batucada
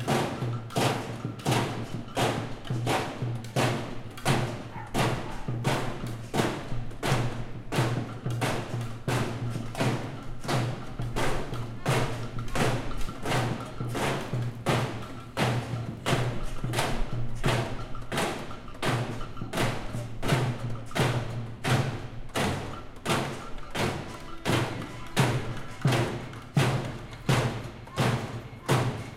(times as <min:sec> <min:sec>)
0:08.2 0:29.1